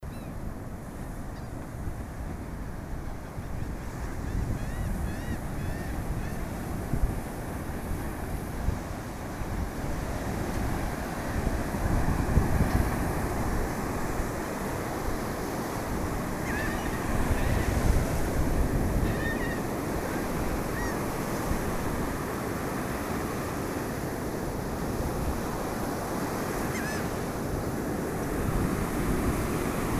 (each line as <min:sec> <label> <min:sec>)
0:00.0 various sea birds 0:08.9
0:09.8 various sea birds 0:29.9